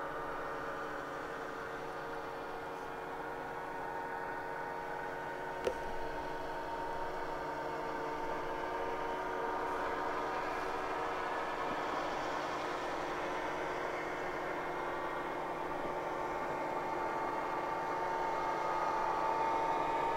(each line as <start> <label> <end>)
0.1 snowmobiles pass by long line convoy 5.5
6.2 snowmobiles pass by long line convoy 20.1